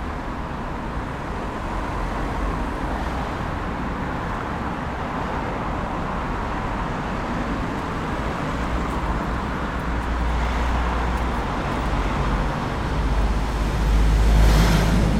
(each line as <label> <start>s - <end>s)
Traffic 0.0s - 15.1s